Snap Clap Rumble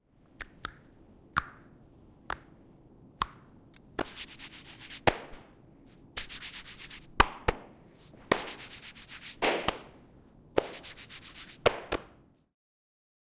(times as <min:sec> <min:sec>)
0:03.2 0:04.4, 0:05.0 0:05.6, 0:06.2 0:10.0, 0:10.6 0:12.2